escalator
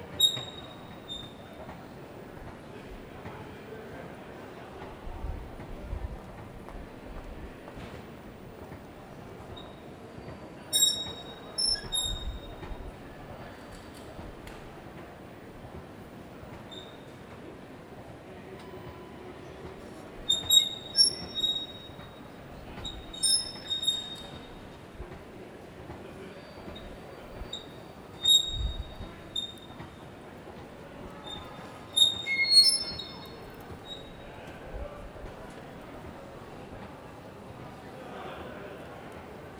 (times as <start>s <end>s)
31.2s 34.2s